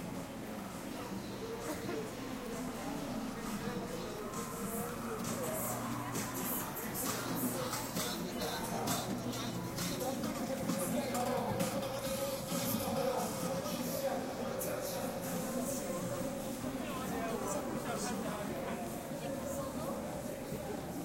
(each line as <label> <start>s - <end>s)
People talking 0.0s - 21.0s